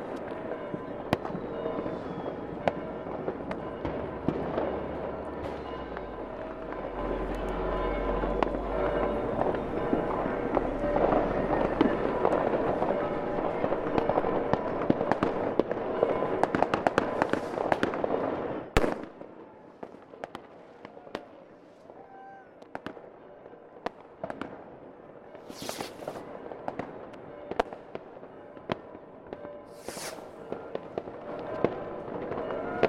wind 0:00.0 - 0:32.8
people 0:29.7 - 0:32.8

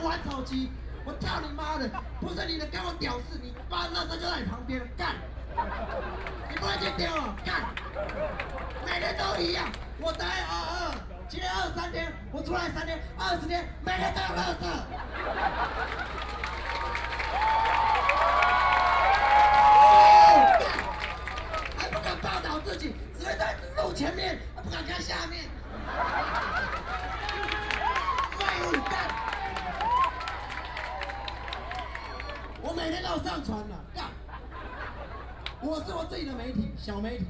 students and people gathered 0:00.0 - 0:37.2

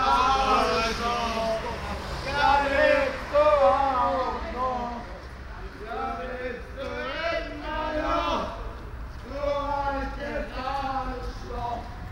drunken young men sing simple song 0:00.0 - 0:01.6
drunken young men sing simple song 0:05.8 - 0:12.1

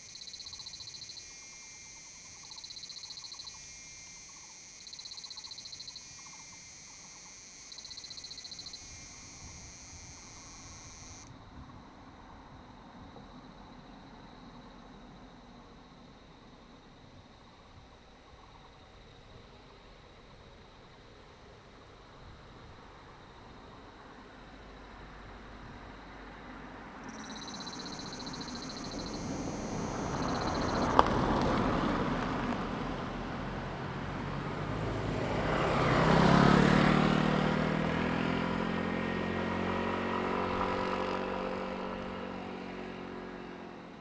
Cicadas cry 0:00.0 - 0:11.4
traffic sound 0:00.0 - 0:14.6
traffic sound 0:24.6 - 0:44.0
Cicadas cry 0:27.0 - 0:32.5

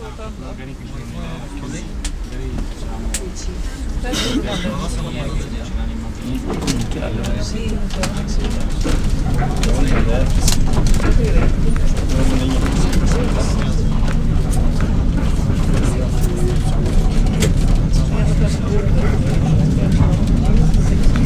a tram ride 0:00.0 - 0:21.2

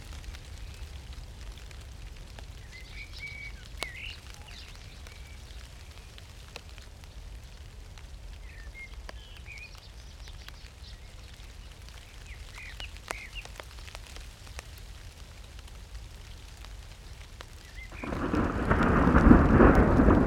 crackly rain 0:00.0 - 0:20.2
evening blackbirds 0:02.6 - 0:06.2
evening blackbirds 0:08.4 - 0:14.2
evening blackbirds 0:17.1 - 0:20.2
Spatial thunder 0:17.9 - 0:20.2

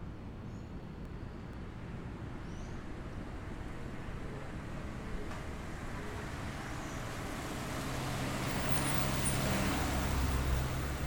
vehículos que suben y bajan la loma 0:06.3 - 0:11.0

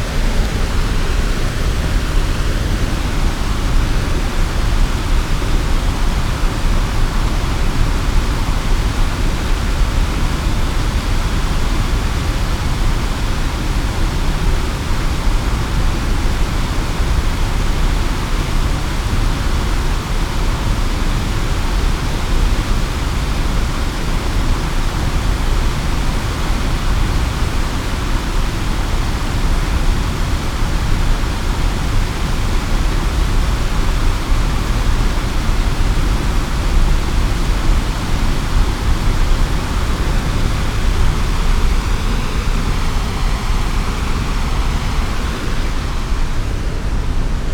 river flows in the opposite direction 0:00.0 - 0:47.5
water fall 0:00.0 - 0:47.5

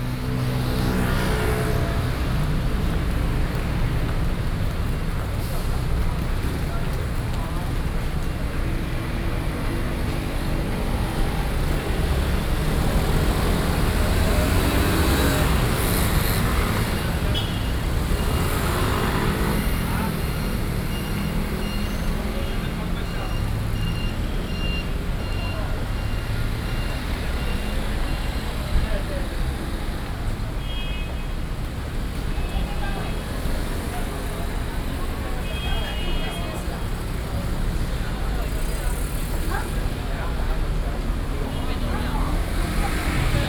Traffic noise 0:00.0 - 0:43.4

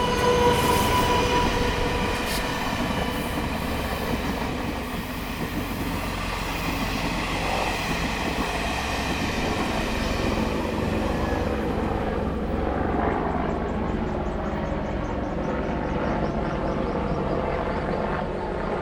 The train runs through 0:00.0 - 0:18.8

